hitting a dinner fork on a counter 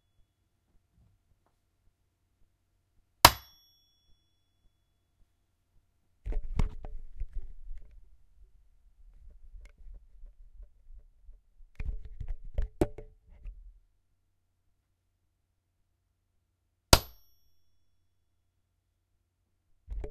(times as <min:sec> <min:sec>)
0:03.3 0:03.8